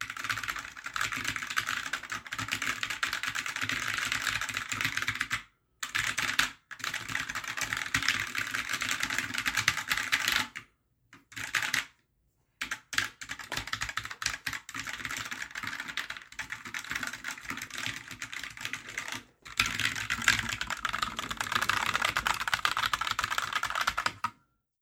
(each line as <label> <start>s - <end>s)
typewriter typing 12.7s - 24.4s